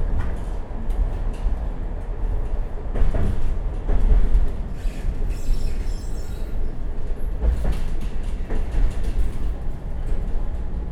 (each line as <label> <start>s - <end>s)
tram 0.0s - 10.9s